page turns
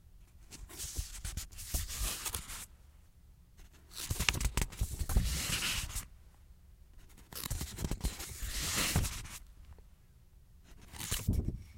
0.5s 2.7s, 3.9s 6.1s, 7.1s 9.4s, 10.8s 11.4s

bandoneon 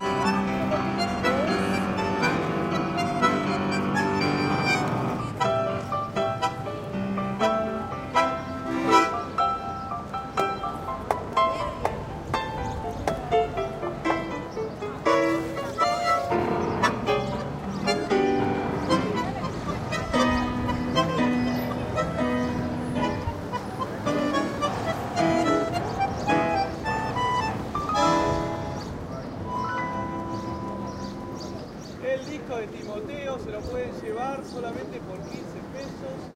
0.0s 10.8s, 13.3s 31.6s

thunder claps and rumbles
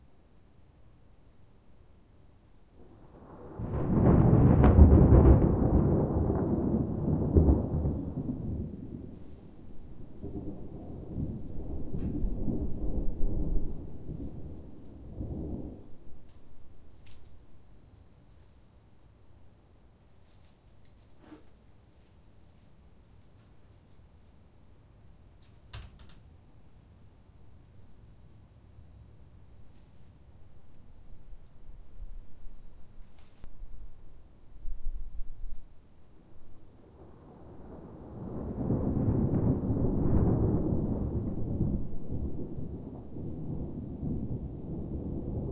2.8s 17.2s, 36.6s 45.5s

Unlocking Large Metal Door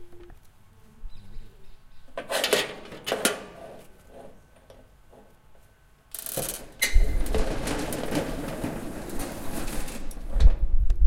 2.2s 5.4s, 6.1s 10.8s

